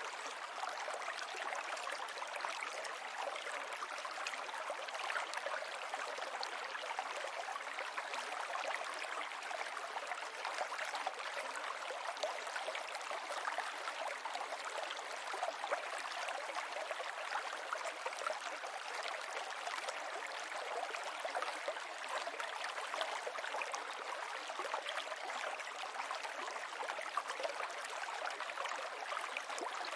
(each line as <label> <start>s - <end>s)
river 0.0s - 29.9s